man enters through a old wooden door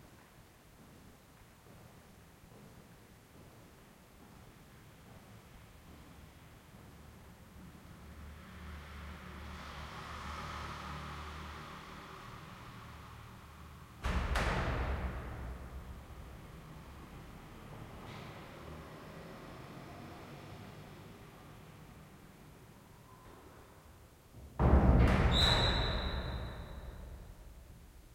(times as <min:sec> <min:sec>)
0:24.3 0:27.7